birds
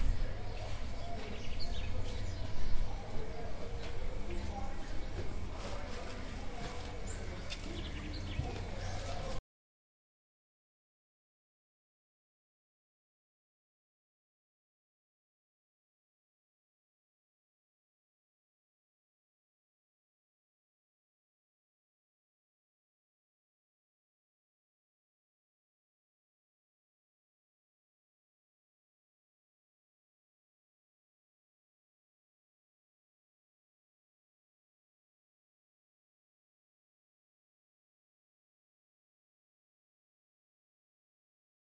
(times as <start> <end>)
0.0 9.4